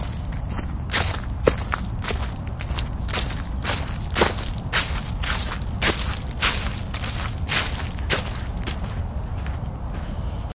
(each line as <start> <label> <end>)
0.0 Walking through the leaves 9.6
1.0 birdsong 10.5